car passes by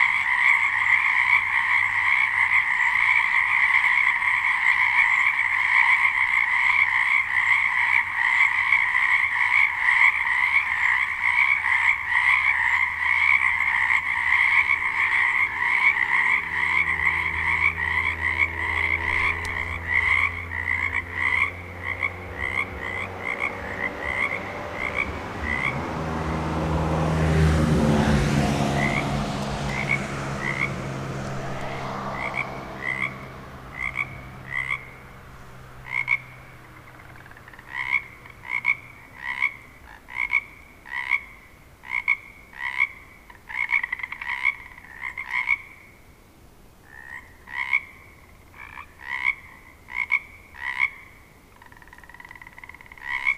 0.1s 41.1s

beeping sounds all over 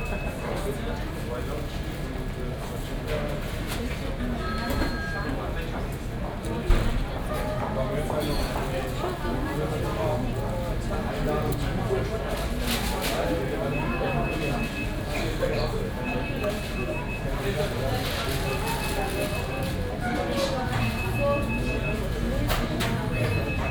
0.0s 0.8s, 13.6s 23.7s

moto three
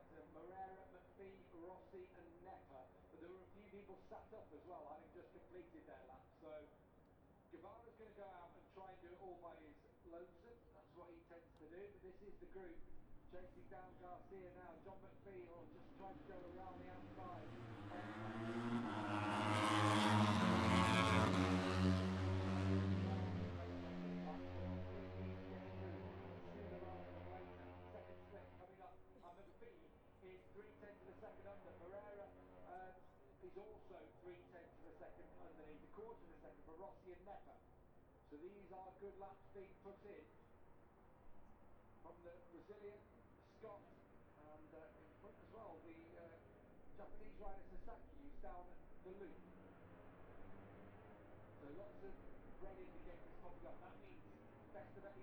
12.8s 28.8s

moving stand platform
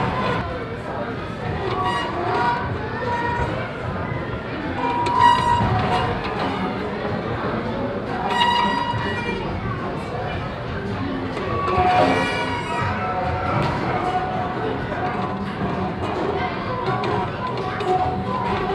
13.4s 18.7s

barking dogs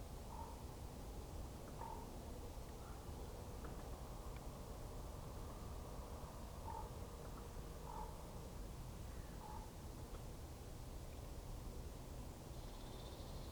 6.7s 6.9s, 7.9s 8.2s, 9.4s 9.7s

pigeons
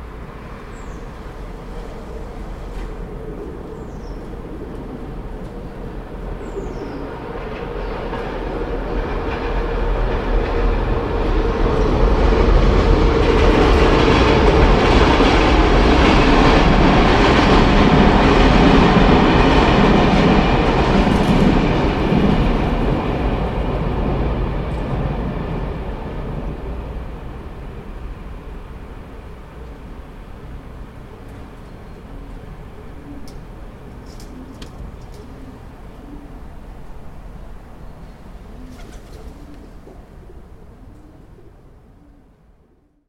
2.6s 8.3s, 31.2s 36.5s, 38.4s 42.4s

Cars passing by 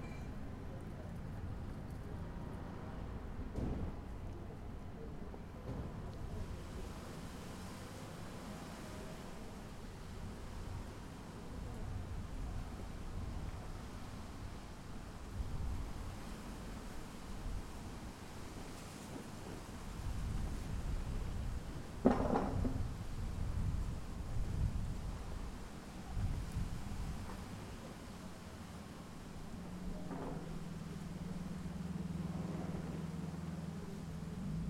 25.7s 34.6s

